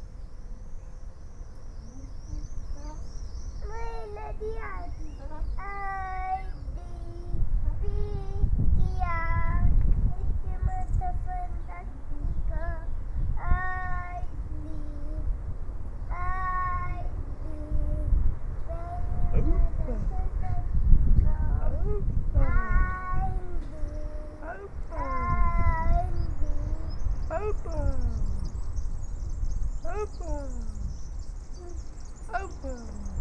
sing on a swing 0:00.7 - 0:33.2

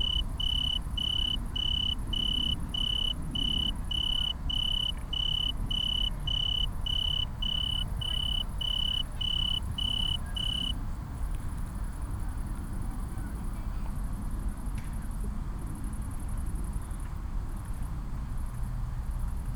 tree cricket 0:00.0 - 0:10.9

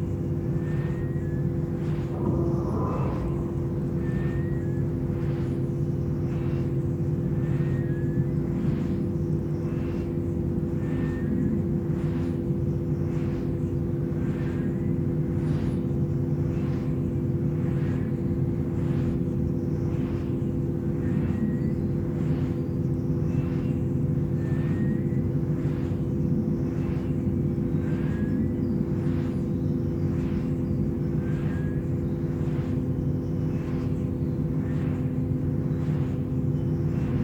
Whistling windgenerator 0:00.0 - 0:37.2
wind sounds 0:01.1 - 0:05.9
transformer hum 0:01.3 - 0:05.9

